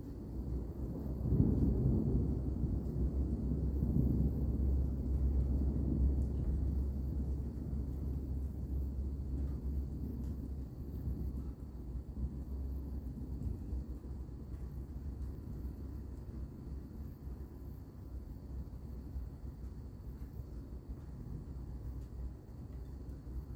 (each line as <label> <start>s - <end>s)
background crickets 0.0s - 23.5s
distant thunder rumble 0.4s - 16.2s